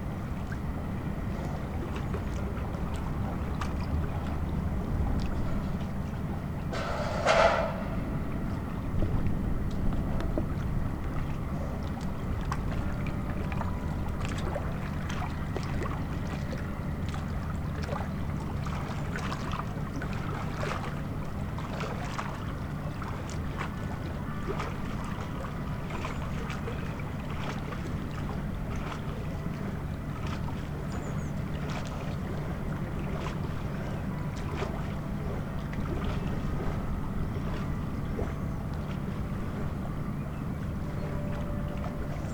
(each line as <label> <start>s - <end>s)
noise of the concrete factory 3.9s - 10.5s
lapping waves 10.5s - 42.3s